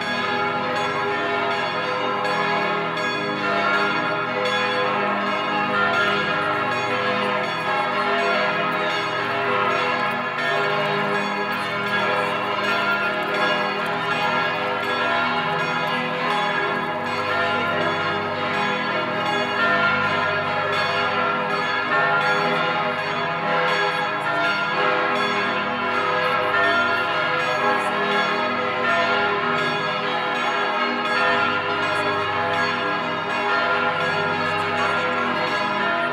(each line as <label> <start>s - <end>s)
Churchbells 0.0s - 36.1s